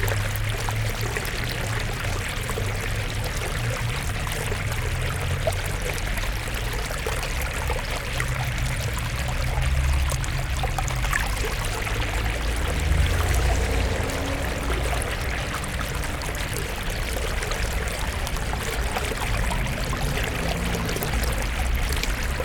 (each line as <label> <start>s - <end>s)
stream 0.0s - 22.4s